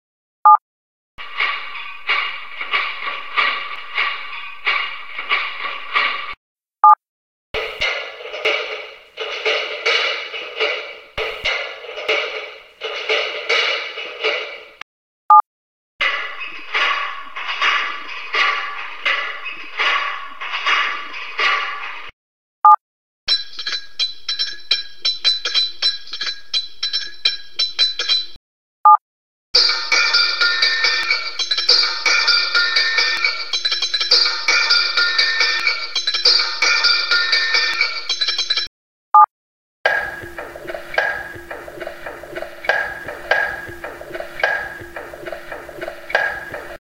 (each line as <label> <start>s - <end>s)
cables to tie up then pluck, scrape and hit 1.2s - 6.4s
metal garbage cans, with lids 1.2s - 6.4s
short metal pipes 1.2s - 6.4s
metal garbage cans, with lids 7.6s - 14.8s
yard sticks and brooms 7.6s - 14.8s
cables to tie up then pluck, scrape and hit 7.6s - 14.8s
short metal pipes 7.6s - 14.8s
cables to tie up then pluck, scrape and hit 16.0s - 22.1s
metal garbage cans, with lids 16.0s - 22.1s
short metal pipes 16.0s - 22.1s
short metal pipes 23.3s - 28.4s
cables to tie up then pluck, scrape and hit 23.3s - 28.4s
PVC pipes 29.6s - 38.7s
cables to tie up then pluck, scrape and hit 29.6s - 38.7s
metal garbage cans, with lids 29.6s - 38.7s
short metal pipes 29.6s - 38.7s
PVC pipes 39.9s - 46.8s
cables to tie up then pluck, scrape and hit 39.9s - 46.8s
metal garbage cans, with lids 39.9s - 46.8s
short metal pipes 39.9s - 46.8s
yard sticks and brooms 39.9s - 46.8s